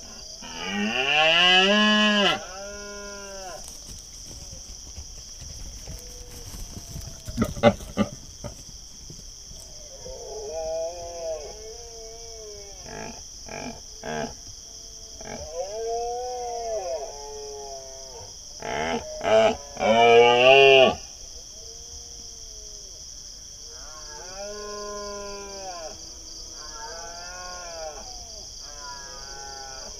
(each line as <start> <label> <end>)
3.0 male Red-deer running, roaring and grunting 9.6